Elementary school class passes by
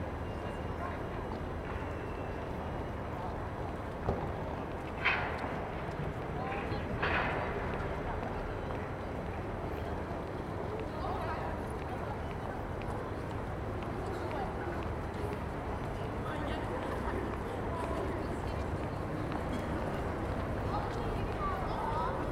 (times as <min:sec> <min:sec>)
0:08.8 0:22.3